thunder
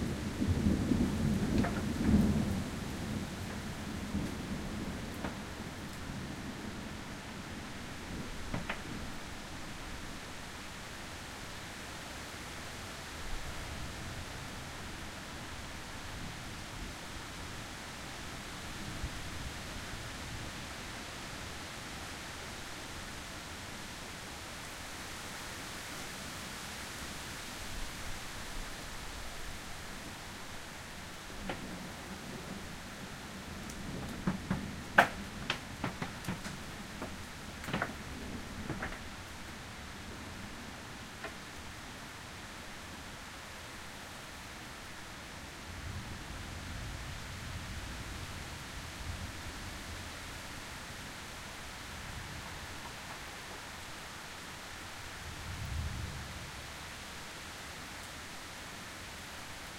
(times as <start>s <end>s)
0.0s 5.8s